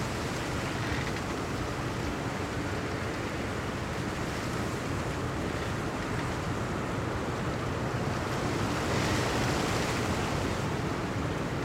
0.0s old willow tree in wind 11.6s

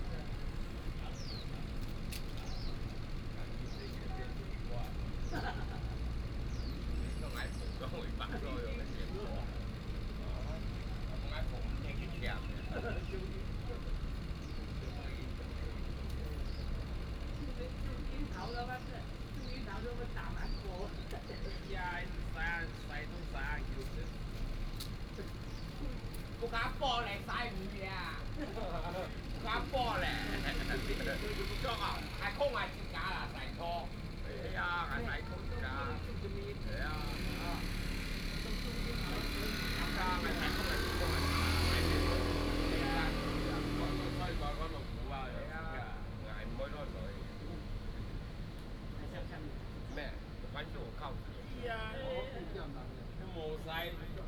0.0s traffic sound 54.2s

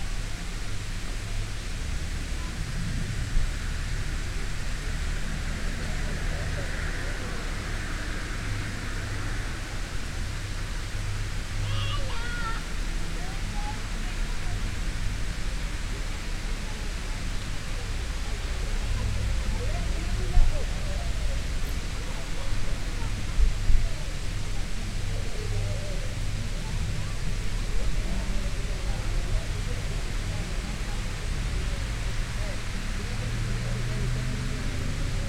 0.0s road noise 35.2s
15.9s visitors chatting 35.2s

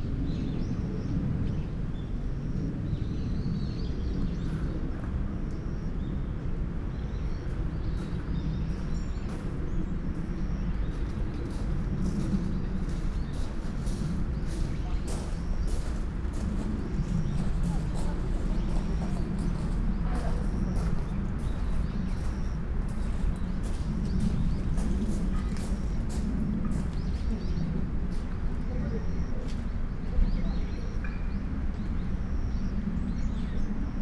5.6s birds 34.0s
11.5s steps 27.3s
14.2s voices 22.6s

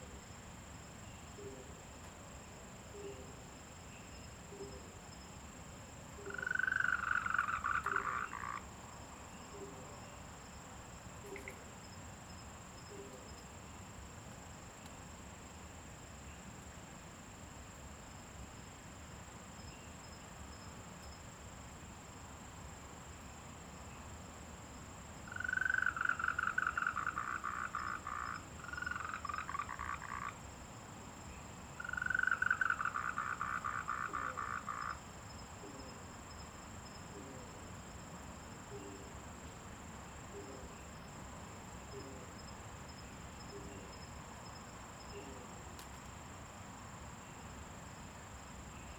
2.8s Frogs chirping 13.9s
24.8s Frogs chirping 46.3s

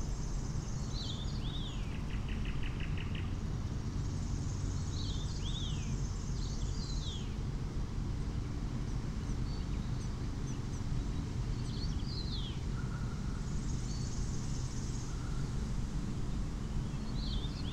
0.0s very windy day 17.7s

